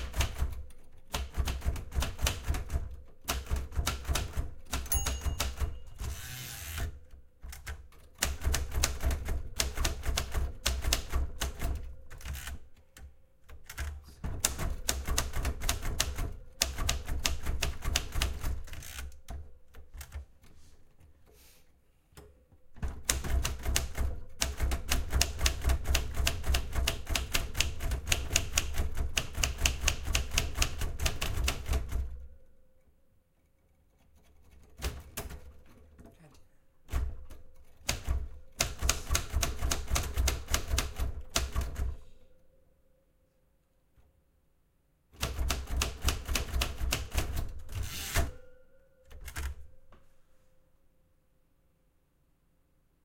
0.0s typing on an old typewriter 20.2s
22.8s typing on an old typewriter 32.3s
34.2s typing on an old typewriter 35.6s
36.9s typing on an old typewriter 42.0s
45.2s typing on an old typewriter 48.4s

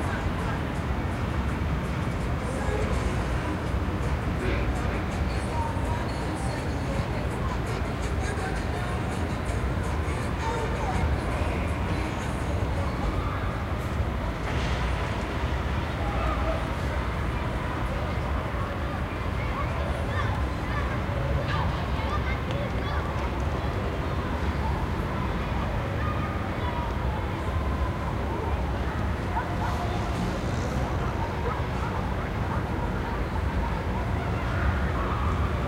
0.0s car with music playing loud 15.0s
16.0s children playing 35.6s

